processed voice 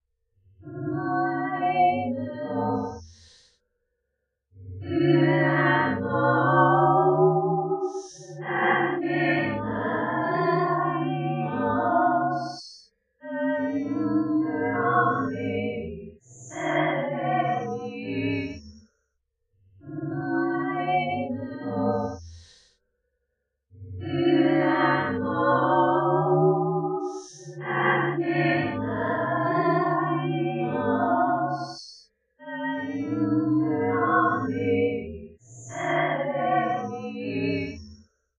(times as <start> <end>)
7.9 12.6, 13.3 15.8, 24.0 31.8, 32.5 37.6